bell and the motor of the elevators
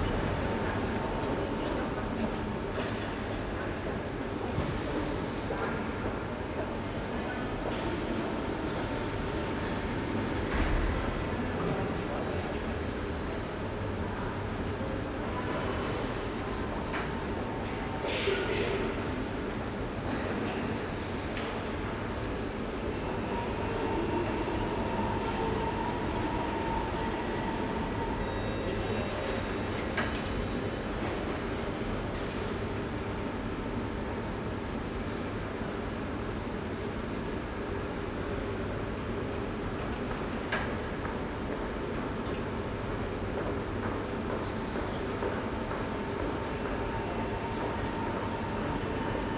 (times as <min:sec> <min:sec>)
0:22.8 0:31.3, 0:45.2 0:49.3